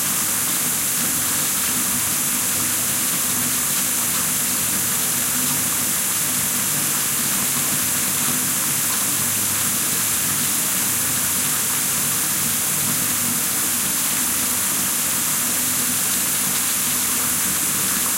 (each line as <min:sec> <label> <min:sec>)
0:00.0 Water running down the bath tub 0:18.1